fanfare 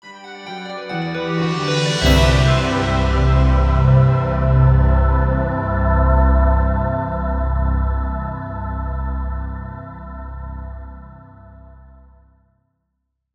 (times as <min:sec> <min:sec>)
0:00.4 0:04.5